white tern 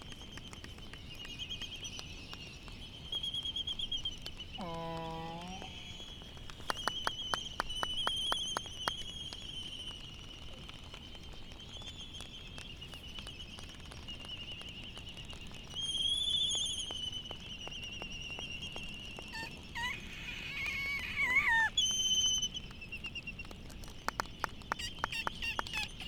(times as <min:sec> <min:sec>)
0:19.3 0:22.6, 0:24.7 0:26.0